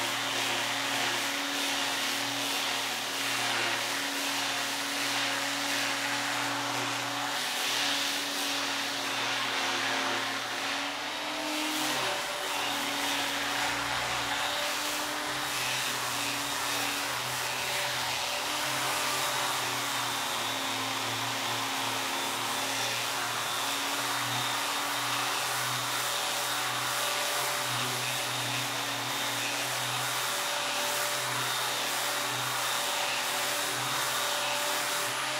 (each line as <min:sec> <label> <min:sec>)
0:00.0 Electric Sander start/stop and sanding at a medium speeds 0:35.3